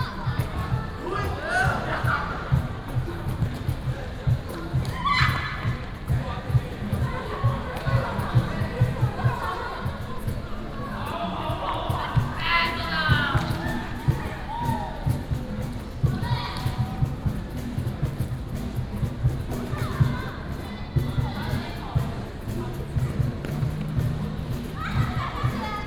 Many high school students 0.0 - 25.8

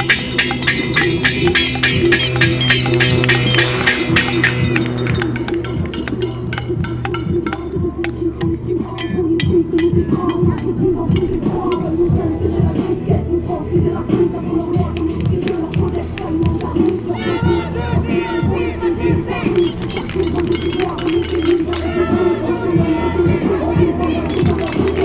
Demonstration against Detention Centrum 0.0 - 25.0

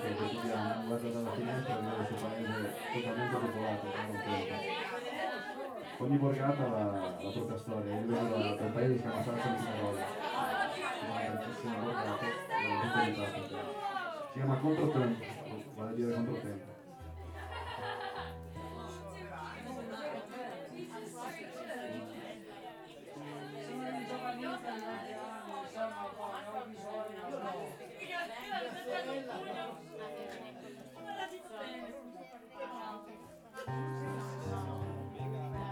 Music 17.0 - 24.1
Music 32.7 - 35.7

